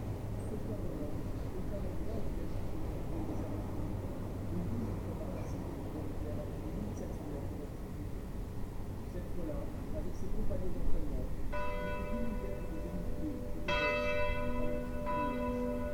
11.5s bells striking twelve noon 15.9s

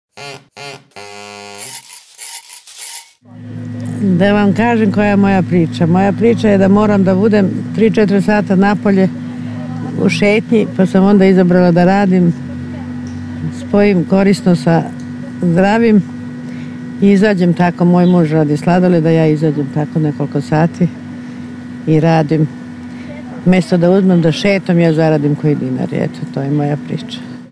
3.3s Ice cream lady 21.2s
21.8s Ice cream lady 27.5s

